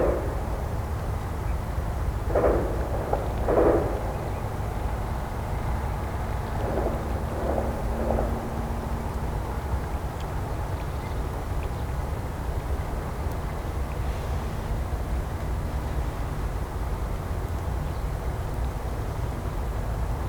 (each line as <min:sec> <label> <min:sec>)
0:00.0 Noise of the city 0:20.2
0:02.3 gun shots 0:04.7